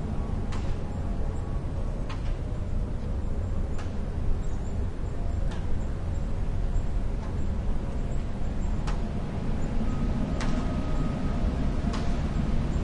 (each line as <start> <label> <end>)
0.0 wind whistling in a large radio tower 12.8